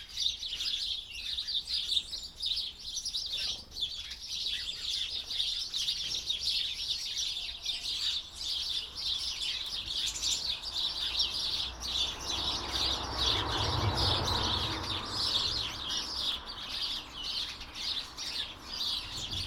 blue and great tits squabble on the feeders 0:00.0 - 0:19.4
flock of house sparrows 0:00.0 - 0:19.4

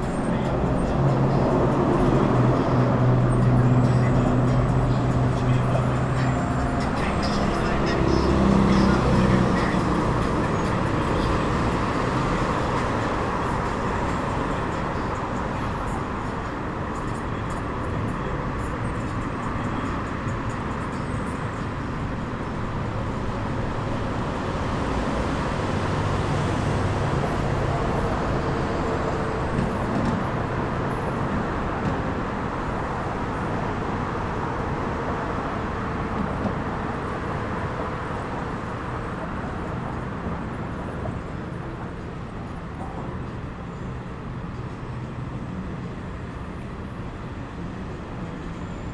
Traffic 0:00.0 - 0:48.9
Radio 0:05.4 - 0:10.0

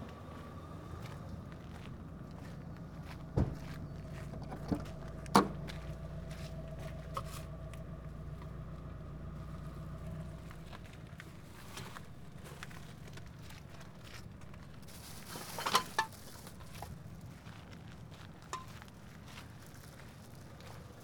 taking bags of recyclable waste out of car 0:00.6 - 0:17.4

